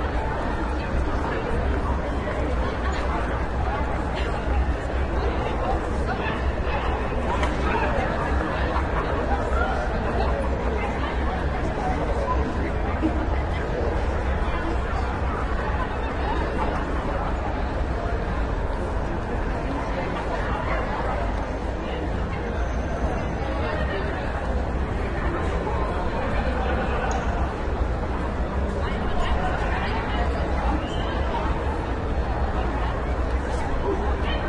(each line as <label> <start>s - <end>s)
crowd 0.0s - 34.4s